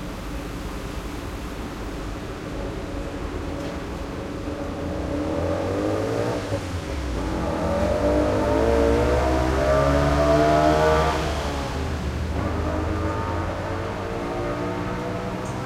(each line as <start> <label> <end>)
4.3 motorcycles 15.6